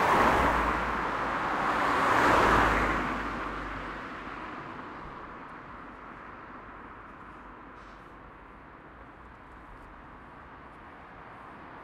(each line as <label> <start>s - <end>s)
car bys 0.0s - 5.0s
bus 0.0s - 11.8s